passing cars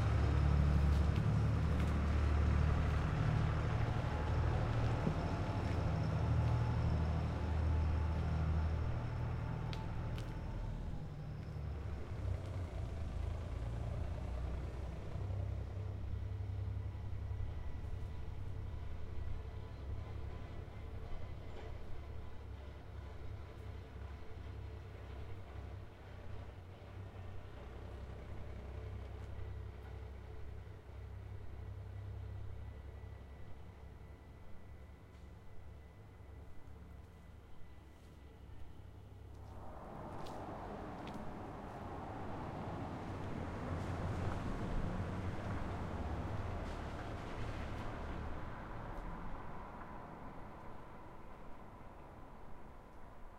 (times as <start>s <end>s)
0.0s 21.0s, 39.2s 53.3s